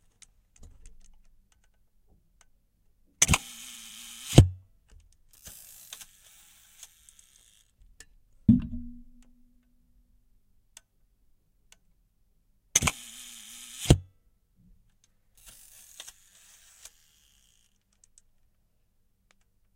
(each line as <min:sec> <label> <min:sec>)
0:03.2 Shutter release at 1 second 0:04.5
0:05.4 Shutter release at 1 second 0:07.7
0:12.8 Shutter release at 1 second 0:14.0
0:15.4 Shutter release at 1 second 0:17.8